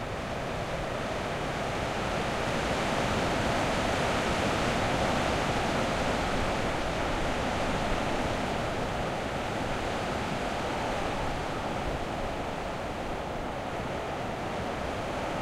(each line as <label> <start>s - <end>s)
rain 0.0s - 15.4s
Wind storm hitting the limestone rocks of a cliff 0.1s - 15.4s